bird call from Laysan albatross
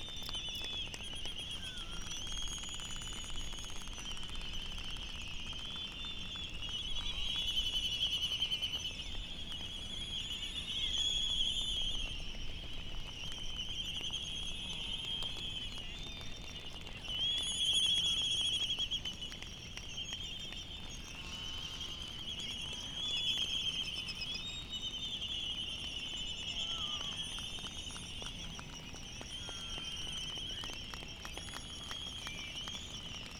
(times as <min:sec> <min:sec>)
0:26.5 0:27.2